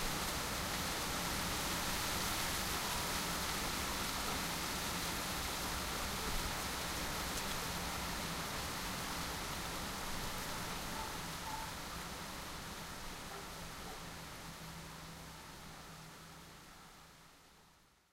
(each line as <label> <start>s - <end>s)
dogs barking 13.3s - 14.1s